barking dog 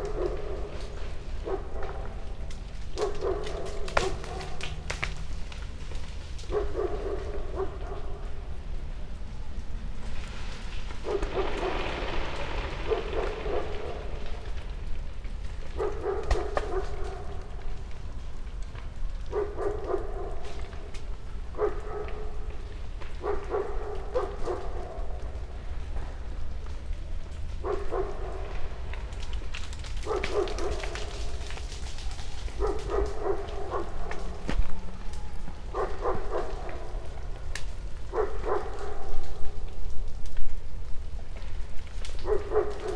0.0s 5.2s, 6.4s 8.4s, 11.0s 11.8s, 12.9s 14.1s, 15.6s 17.6s, 19.2s 25.4s, 27.6s 39.5s, 42.1s 42.9s

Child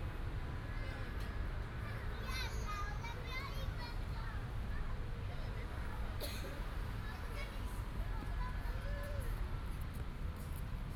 2.1s 4.4s

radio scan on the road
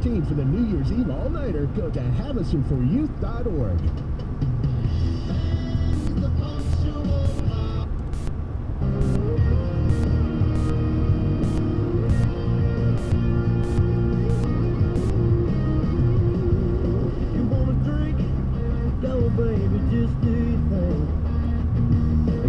6.0s 15.5s

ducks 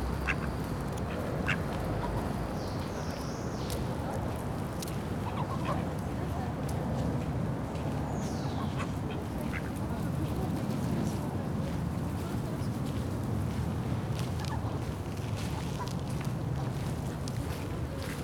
0.0s 2.9s, 5.2s 5.8s, 8.5s 9.8s

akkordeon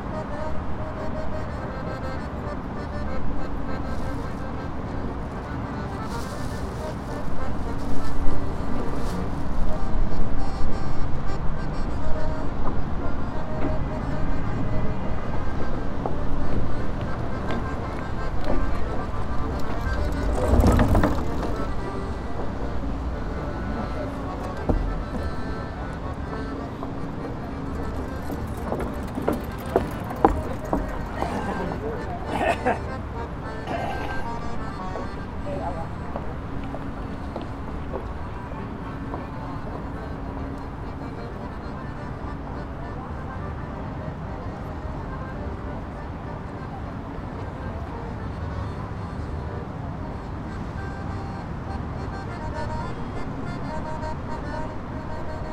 0.0s 42.5s

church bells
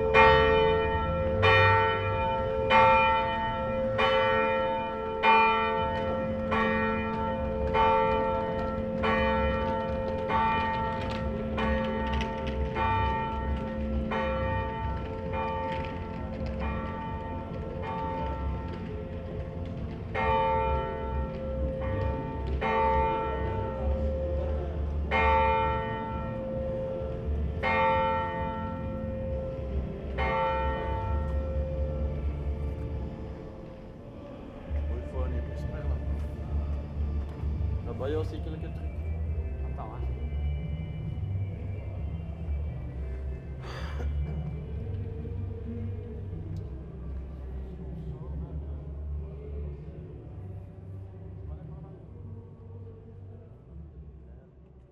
0.0s 34.0s

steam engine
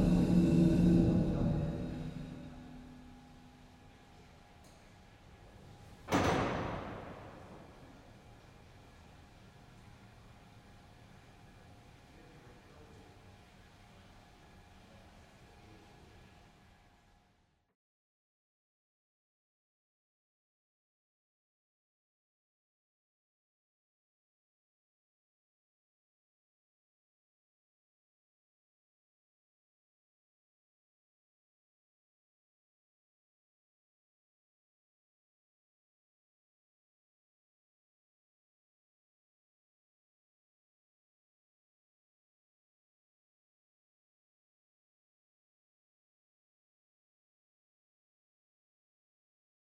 0.0s 3.3s

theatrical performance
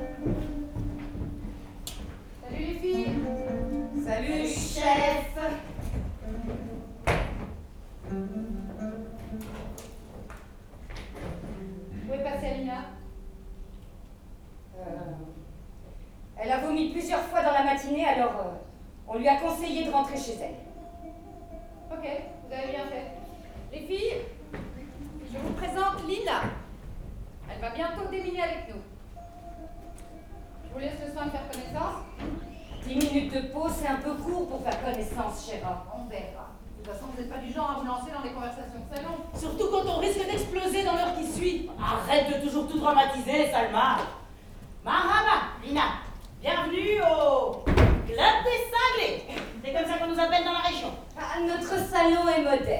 0.0s 10.5s, 19.1s 36.2s

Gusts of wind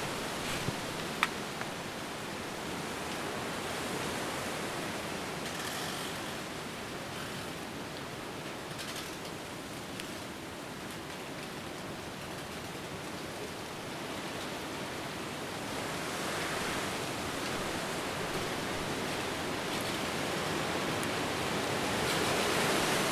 0.0s 5.5s, 14.0s 23.1s

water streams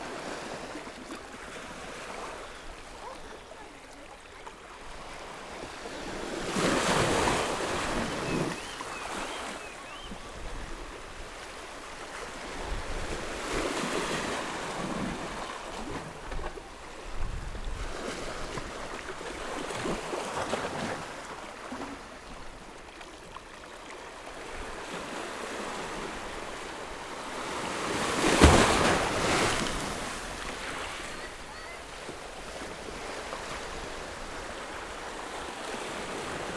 26.3s 36.5s

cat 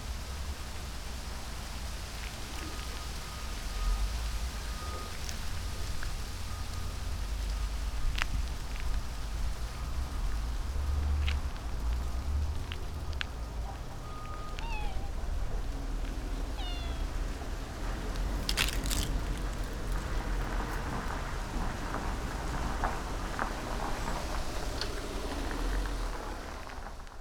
14.1s 15.7s, 16.4s 17.4s

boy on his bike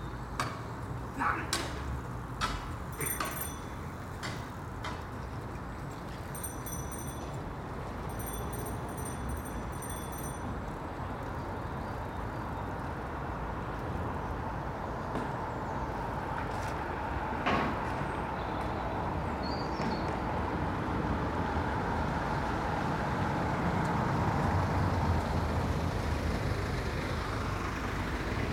2.4s 10.7s

